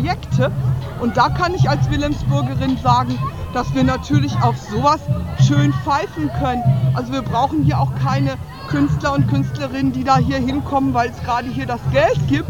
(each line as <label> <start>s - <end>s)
Demonstration 0.0s - 12.4s